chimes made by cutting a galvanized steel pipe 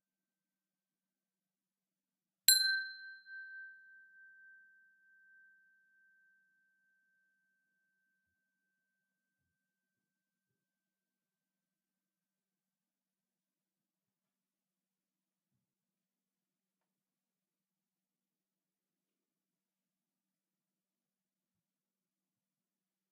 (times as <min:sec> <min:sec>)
0:02.5 0:06.4